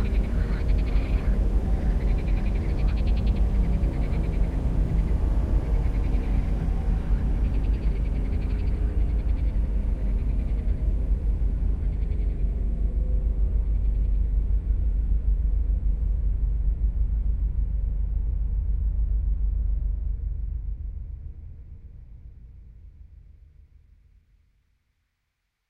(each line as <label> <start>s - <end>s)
Screaming frogs 0.0s - 4.5s